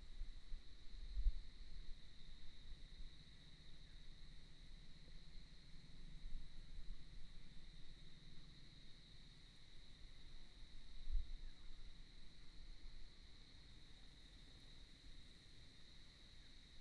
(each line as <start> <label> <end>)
0.0 Insect noise 16.8